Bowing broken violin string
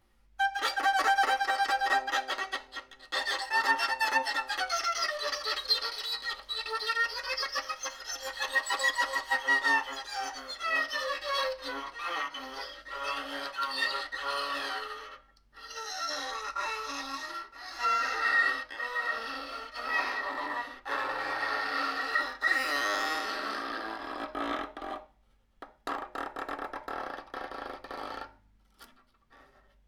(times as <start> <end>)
0.4 20.3